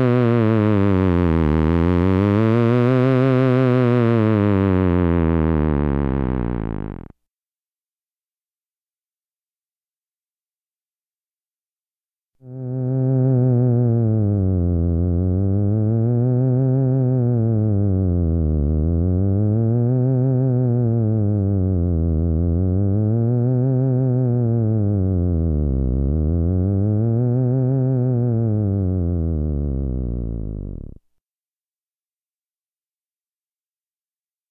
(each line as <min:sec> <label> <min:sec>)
0:00.0 authentic theremin 0:07.1
0:12.5 authentic theremin 0:31.0